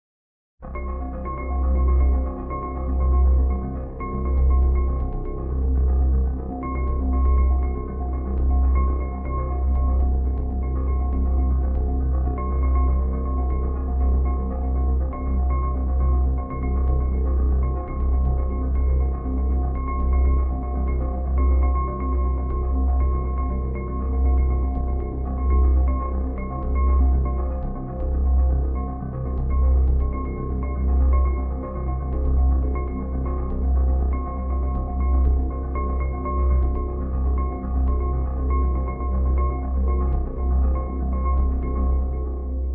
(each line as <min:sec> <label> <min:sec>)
0:00.6 Music 0:42.7